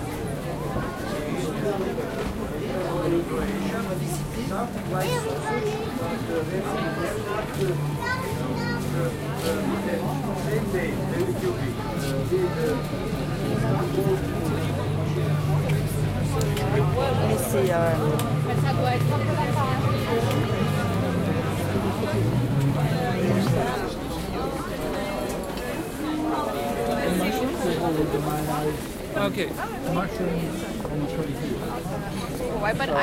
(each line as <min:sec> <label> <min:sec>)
0:00.0 crowd sounds 0:33.0
0:12.8 background music 0:24.9